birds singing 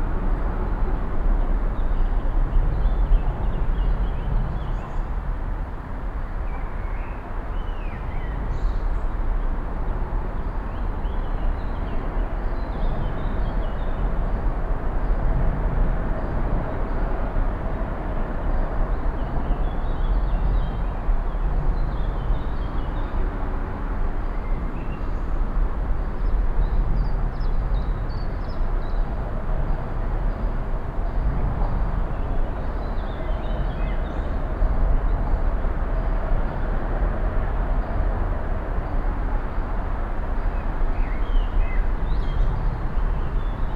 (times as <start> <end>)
40.5 43.7